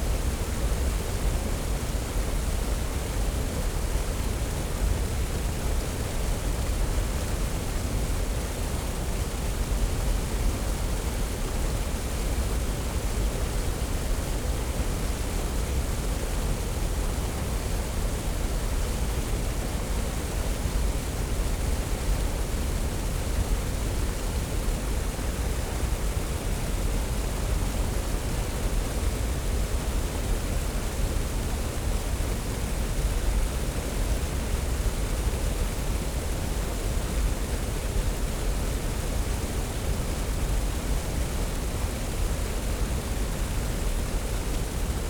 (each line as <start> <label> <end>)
0.0 artificial waterfall at a weir 45.0